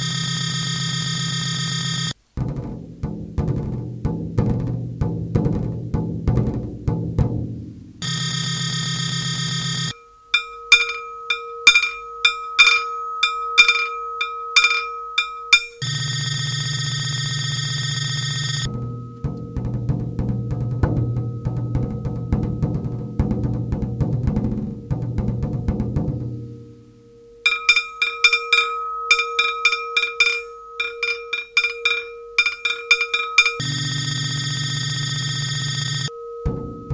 E-drum 2.4 - 8.1
Al-gong 9.9 - 36.9
E-drum 18.6 - 26.5

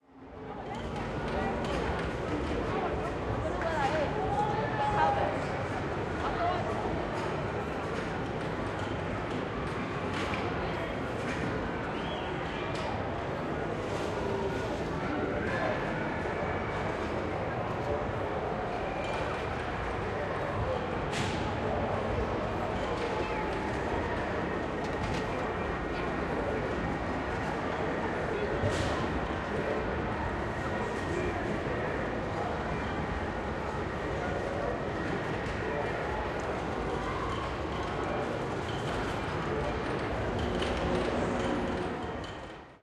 machines 0.3 - 42.8

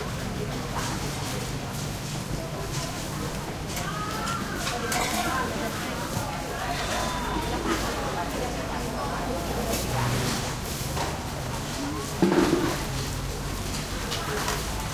side street market morning activity 0.0 - 14.9

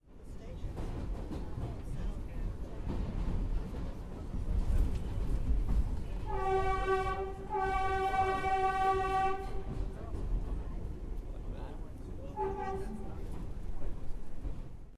Subway train 0.0 - 14.9
horn 6.3 - 9.8
horn 12.4 - 13.1

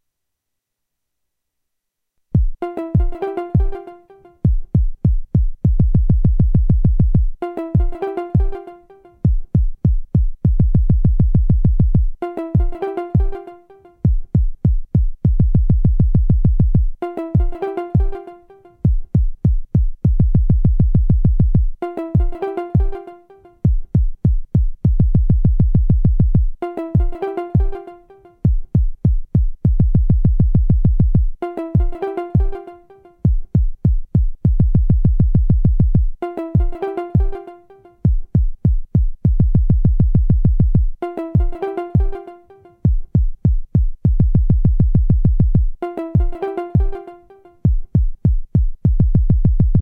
beat 2.4 - 49.8

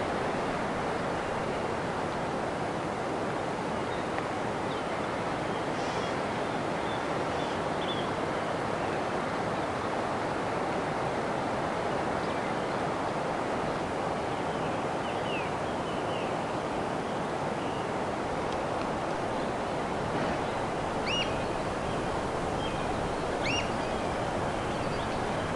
Oystercatchers flying over the campsite 18.2 - 25.5

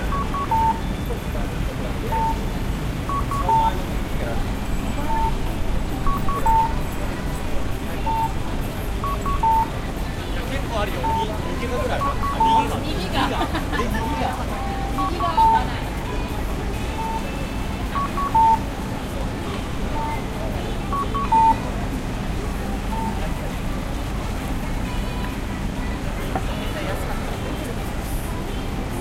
Music in the background 0.0 - 29.0
Traffic 0.0 - 29.0

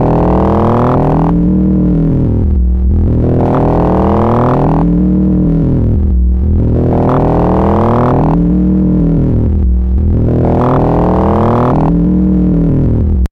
drone 0.0 - 13.3

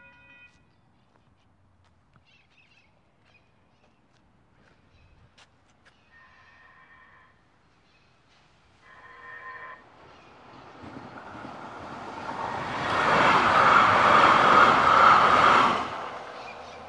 Wet Footsteps Sidewalk 0.1 - 6.0
metro pass 6.1 - 16.8

